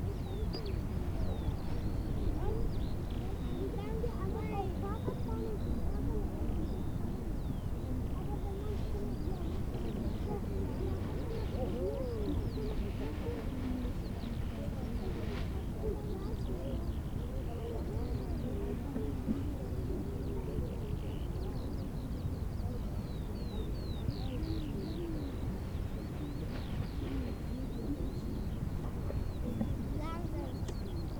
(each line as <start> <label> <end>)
0.0 vistors of the park 31.1
19.8 birds 31.1